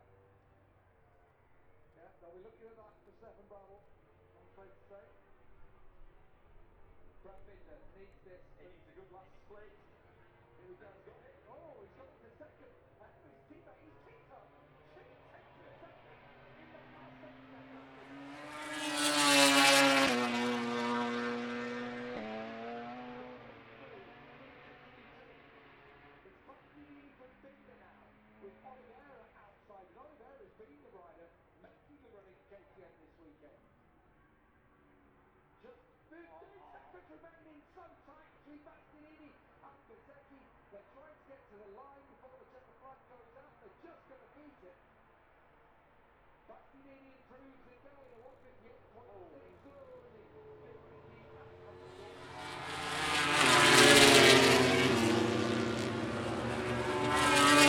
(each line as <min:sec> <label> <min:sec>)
0:00.1 moto grand prix qualifying one 0:29.6
0:46.5 moto grand prix qualifying one 0:57.6